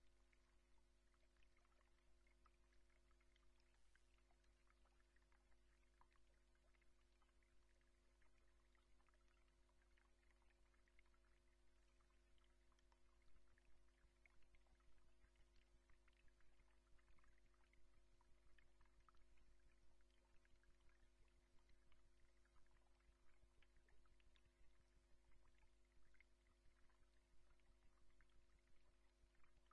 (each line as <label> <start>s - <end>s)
water 0.0s - 29.7s